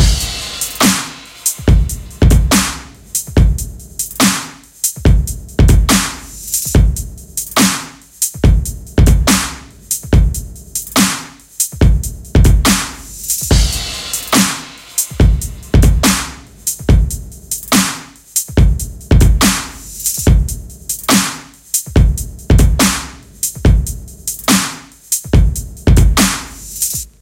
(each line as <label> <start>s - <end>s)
Dubstep Drumloop 0.0s - 27.2s